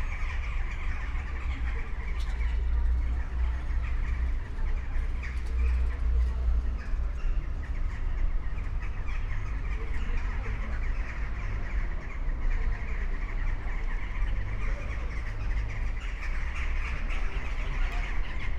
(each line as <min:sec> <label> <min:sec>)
0:00.0 birds in tree crowns 0:18.5
0:00.0 buses 0:18.5